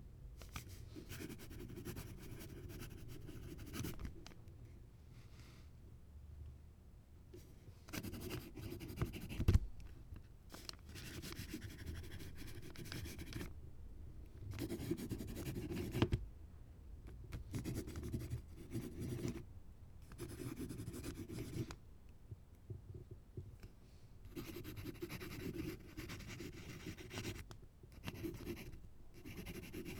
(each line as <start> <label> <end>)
1.1 writing several words with a pencil on an old notebook 4.0
7.9 writing several words with a pencil on an old notebook 9.5
10.9 writing several words with a pencil on an old notebook 13.5
14.6 writing several words with a pencil on an old notebook 16.1
17.5 writing several words with a pencil on an old notebook 19.4
20.1 writing several words with a pencil on an old notebook 21.7
24.3 writing several words with a pencil on an old notebook 29.9